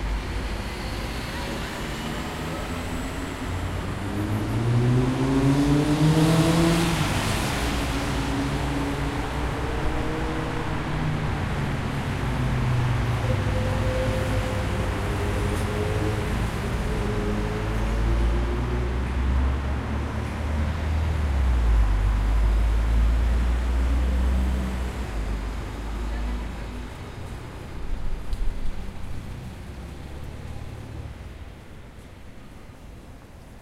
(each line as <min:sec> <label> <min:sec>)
0:00.0 Car and motorcycle traffic 0:33.6
0:00.0 car 0:33.6
0:02.0 motorcycle 0:11.1